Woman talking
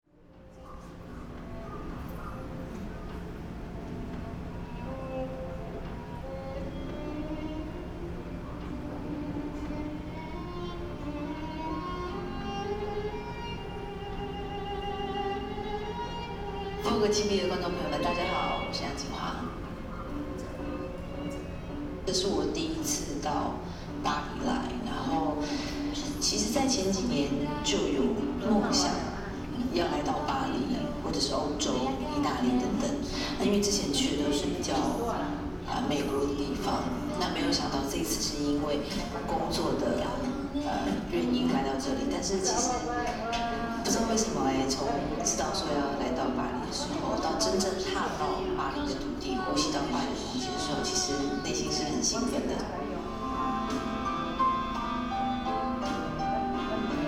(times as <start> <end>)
16.8 19.8, 22.0 53.1